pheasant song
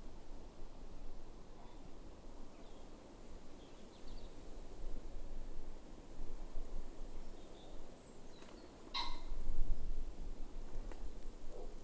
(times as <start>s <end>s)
7.1s 9.4s